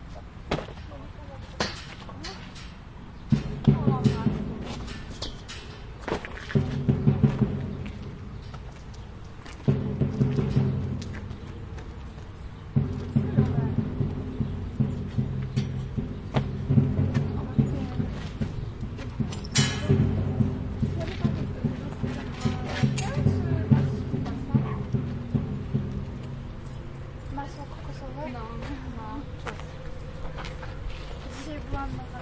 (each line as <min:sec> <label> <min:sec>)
0:00.0 wind 0:32.2
0:00.1 steps 0:32.2
0:00.7 voices 0:05.7
0:01.3 birds 0:32.2
0:03.3 drumming sound 0:05.0
0:06.6 drumming sound 0:08.7
0:06.6 voices 0:32.2
0:09.6 drumming sound 0:12.0
0:12.6 drumming sound 0:28.2